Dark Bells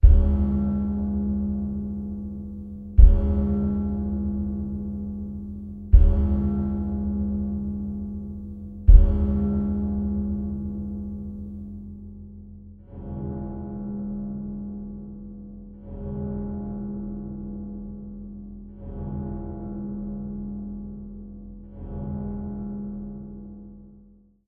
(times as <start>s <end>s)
0.0s 15.2s